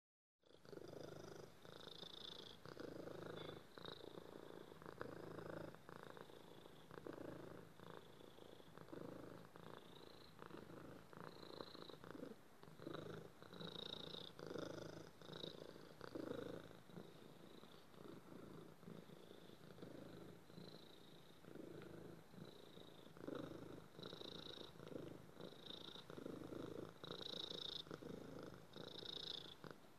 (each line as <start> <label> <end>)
0.4 Cat Purring 29.9